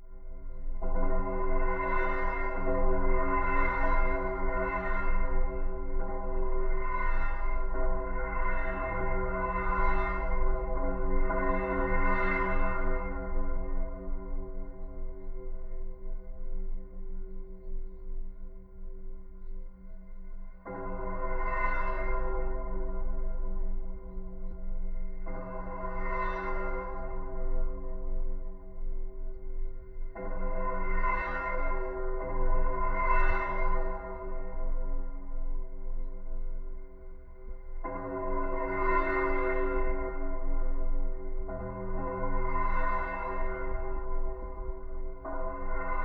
vibrations of the Autobahn traffic within a metal structure 0.0 - 46.0

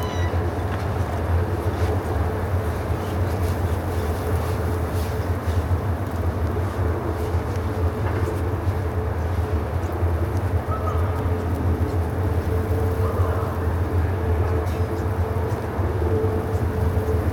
Strong wind 0.0 - 17.3
weather report 0.0 - 17.3

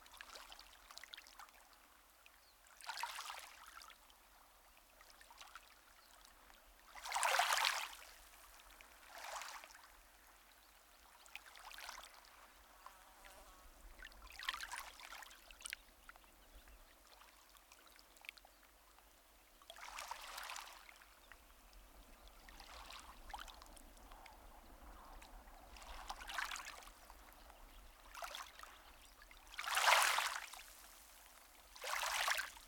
waves, such as they are, just lap against the shore 0.0 - 32.6

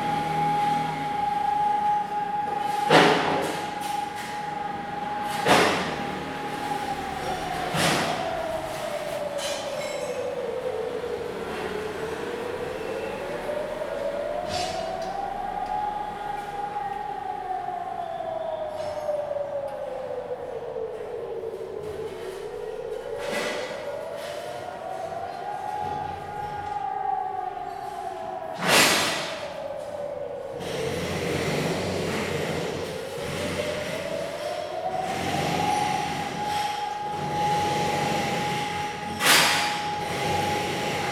Exercise sound alarm 0.0 - 41.1
Construction Sound 30.5 - 41.1

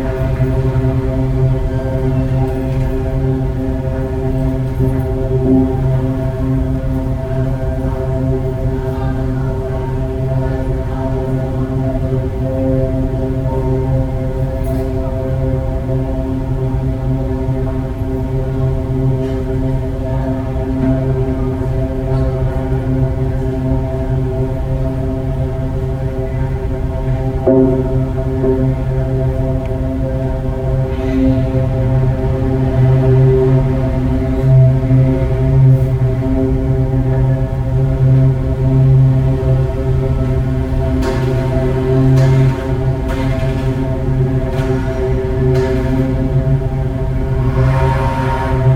pipe in water 40.8 - 48.7

